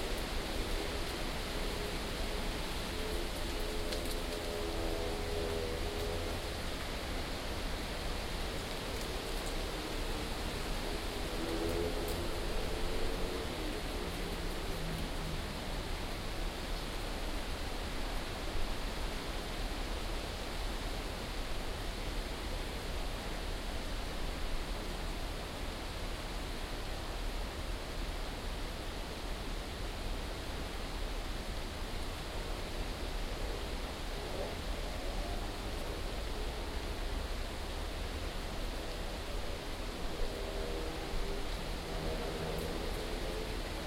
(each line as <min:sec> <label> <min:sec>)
0:00.0 wind 0:43.8